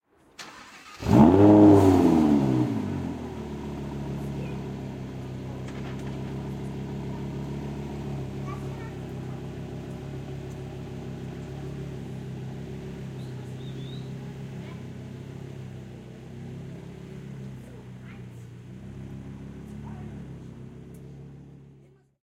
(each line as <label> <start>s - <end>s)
Starting a Lamborghini Huracán EVO Spyder 0.4s - 21.9s
kids in the background 3.8s - 22.2s